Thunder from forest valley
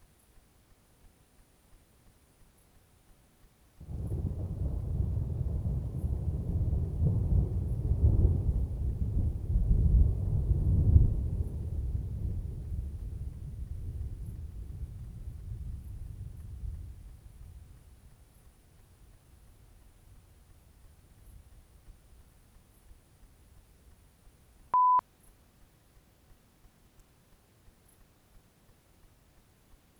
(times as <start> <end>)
3.8 18.5